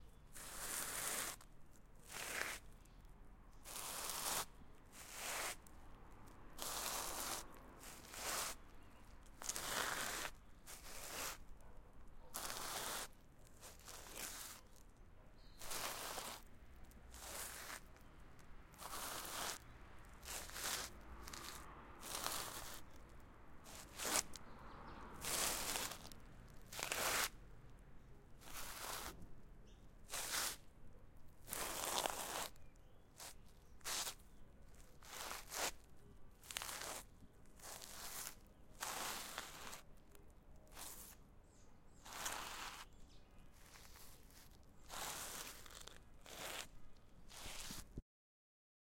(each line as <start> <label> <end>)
0.4 shoes dragging on gravel 1.4
3.7 shoes dragging on gravel 5.6
6.6 shoes dragging on gravel 8.6
9.4 shoes dragging on gravel 11.4
12.4 shoes dragging on gravel 14.6
15.6 shoes dragging on gravel 16.5
17.1 shoes dragging on gravel 18.1
18.8 shoes dragging on gravel 19.6
20.2 shoes dragging on gravel 23.1
23.7 shoes dragging on gravel 24.4
25.1 shoes dragging on gravel 27.4
28.4 shoes dragging on gravel 29.2
30.1 shoes dragging on gravel 30.6
31.5 shoes dragging on gravel 32.6
33.2 shoes dragging on gravel 34.2
35.0 shoes dragging on gravel 39.8
40.7 shoes dragging on gravel 41.2
42.0 shoes dragging on gravel 42.8
43.6 shoes dragging on gravel 46.7
47.3 shoes dragging on gravel 47.9